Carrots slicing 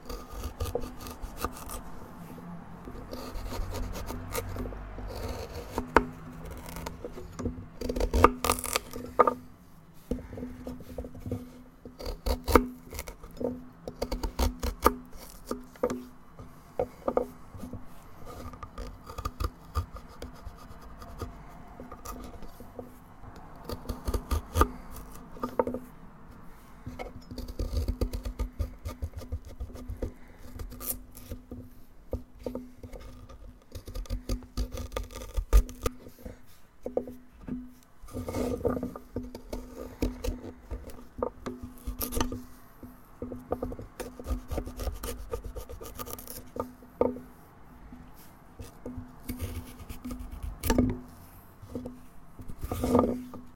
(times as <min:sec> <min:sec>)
0:03.1 0:09.1